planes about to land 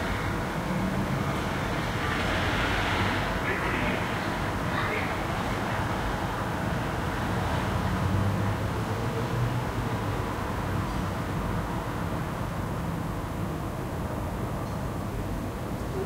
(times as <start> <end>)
0.0 9.0